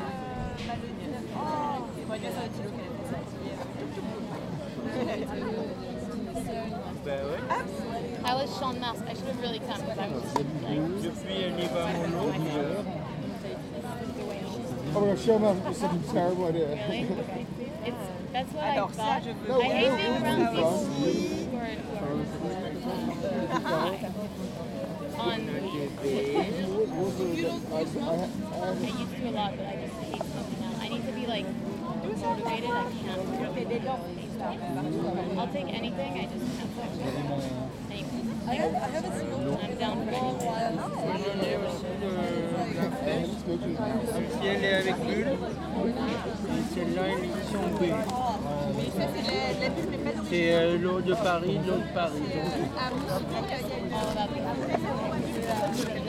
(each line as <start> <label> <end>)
0.0 Conversations in the park 56.0